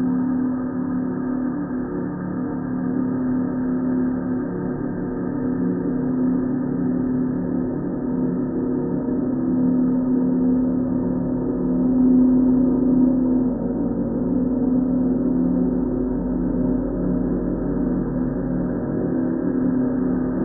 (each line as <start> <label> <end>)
0.0 slowly evolving ambient drone pad 20.4